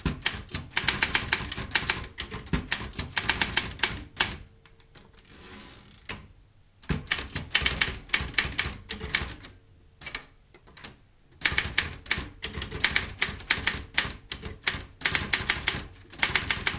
old manual typewriter, typing 0.0 - 4.4
old manual typewriter, typing 6.8 - 16.7
typewriter carriage return by hand 6.8 - 16.7

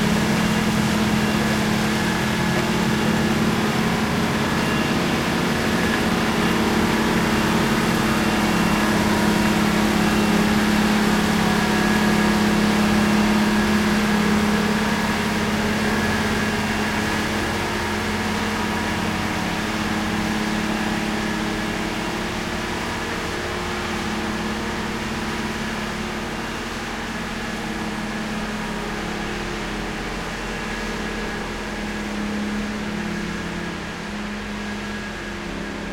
snow blower pass by 0.0 - 35.9

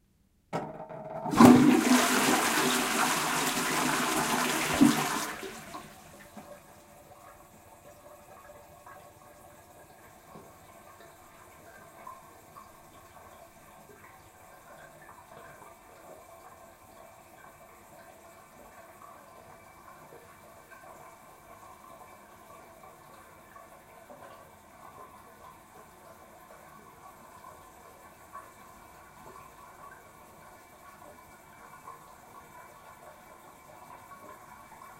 flushing the toilet 0.8 - 34.9
refill water 1.2 - 7.3

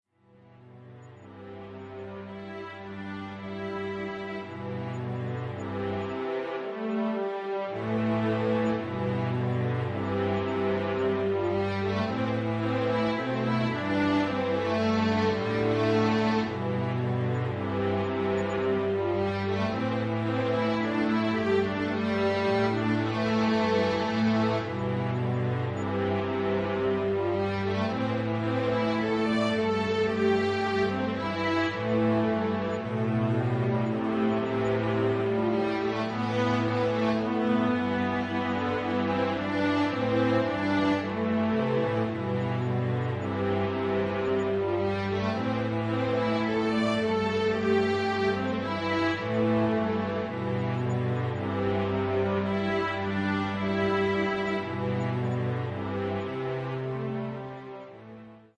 cello 0.0 - 58.5
violins 0.0 - 58.5
viola 0.3 - 58.5

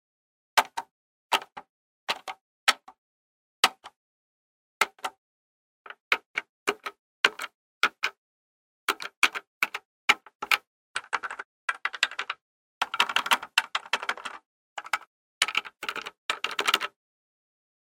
pressing buttons plastic ones 0.6 - 3.0
pressing buttons plastic ones 3.6 - 4.0
pressing buttons plastic ones 4.8 - 5.2
pressing buttons plastic ones 5.9 - 8.2
pressing buttons plastic ones 8.9 - 17.0

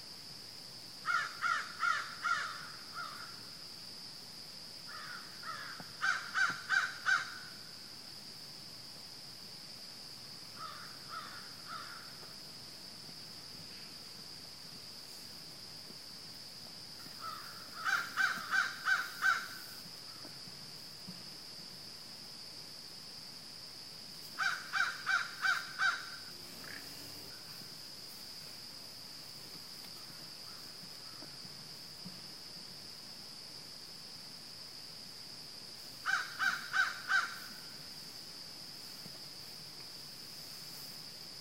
crickets 0.0 - 41.4
crows 1.0 - 3.3
crows 4.9 - 7.5
crows 10.6 - 12.2
crows 17.2 - 20.3
crows 24.4 - 26.8
crows 36.0 - 37.6

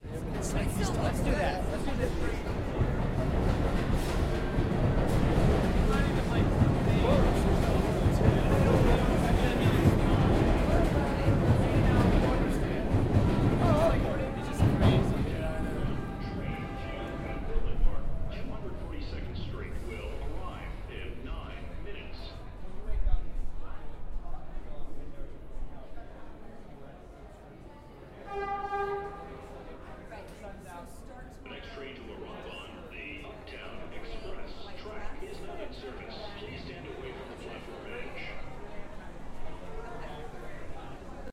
Subway train, in transit 0.0 - 41.3
loud walla 0.0 - 41.3

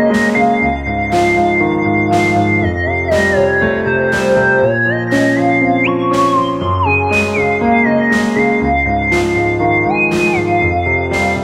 bass 0.0 - 11.4
piano 0.0 - 11.4
synthesizer 0.0 - 11.4
drum 0.1 - 11.4

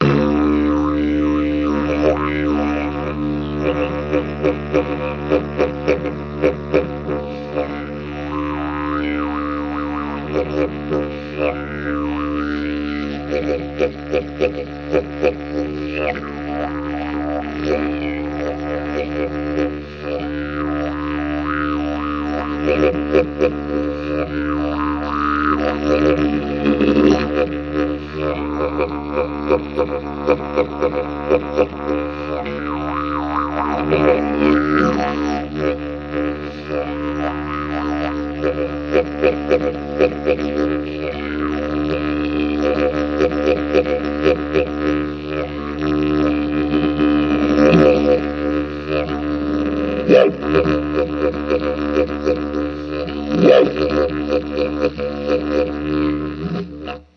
didgeridoo 0.0 - 57.1

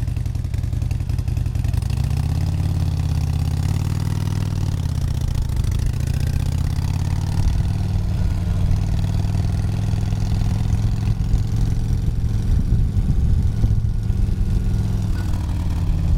ride on a Harley Davidson motorcyle 0.0 - 16.1

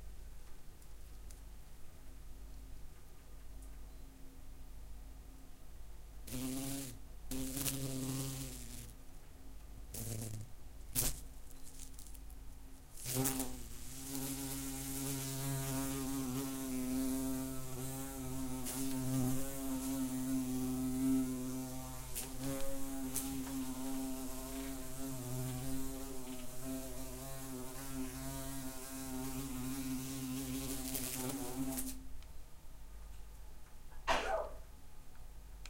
wasp 6.3 - 9.0
wasp 9.9 - 12.1
wasp 12.9 - 32.0

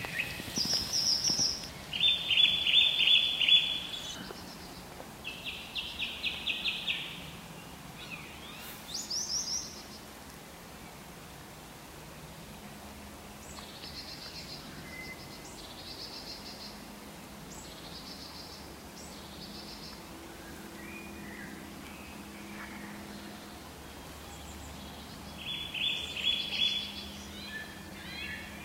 blackbird 0.0 - 7.3
song thrush 0.0 - 11.1
song thrush 13.2 - 28.6
blackbird 24.2 - 28.6

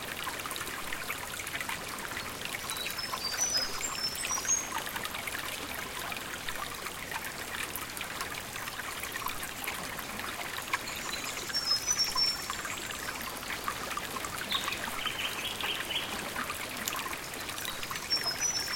flowing stream 0.0 - 18.7
birds in the background 14.4 - 16.3
birds in the background 17.8 - 18.7

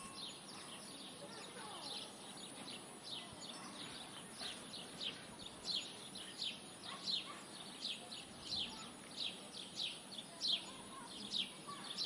cowbells 0.0 - 0.9
Birds singing 0.0 - 12.0

